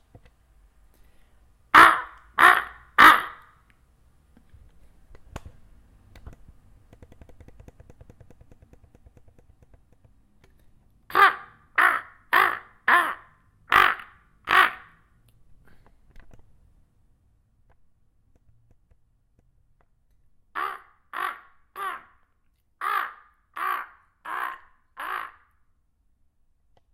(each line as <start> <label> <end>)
1.7 crow noise 3.6
11.1 crow noise 15.1
20.6 crow noise 25.6